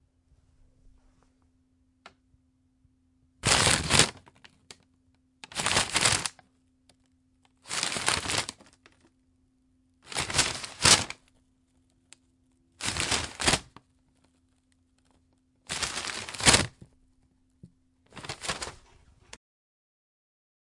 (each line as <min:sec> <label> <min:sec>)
0:03.4 Crumply paper-bag sounds 0:04.8
0:05.4 Crumply paper-bag sounds 0:06.4
0:07.6 Crumply paper-bag sounds 0:09.1
0:10.0 Crumply paper-bag sounds 0:11.2
0:12.8 Crumply paper-bag sounds 0:13.8
0:15.7 Crumply paper-bag sounds 0:16.9
0:18.1 Crumply paper-bag sounds 0:19.4